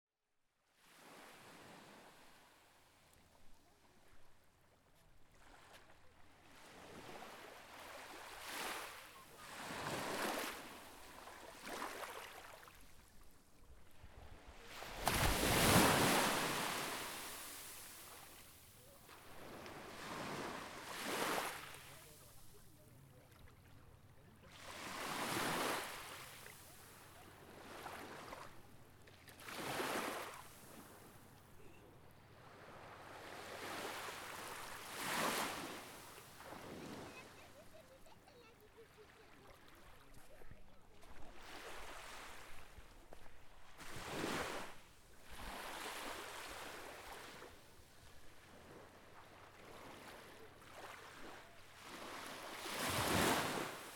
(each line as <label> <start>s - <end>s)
quiet waves 0.4s - 53.9s
voices 36.9s - 41.2s